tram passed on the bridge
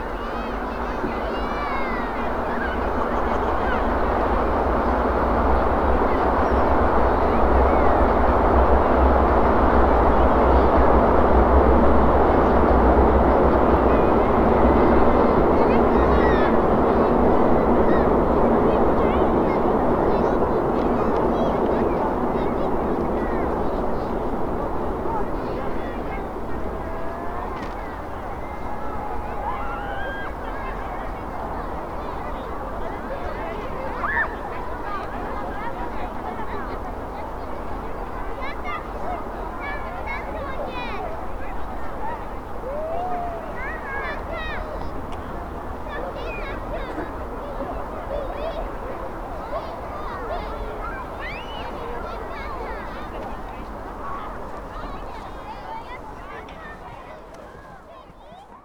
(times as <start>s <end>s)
0.0s 29.4s